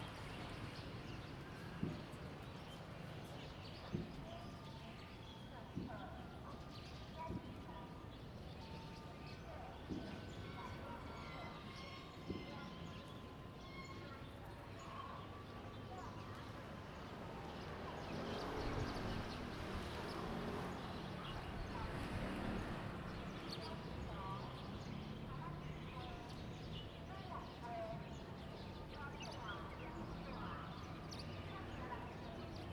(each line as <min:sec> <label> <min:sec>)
0:00.0 birds 0:32.7